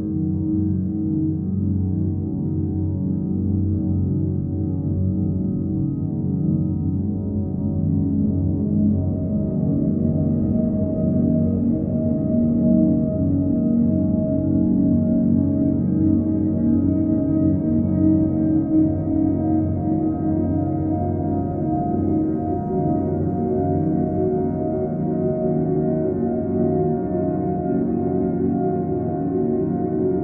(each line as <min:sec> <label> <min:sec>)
0:00.0 Piano 0:30.2
0:08.6 Drone 0:30.2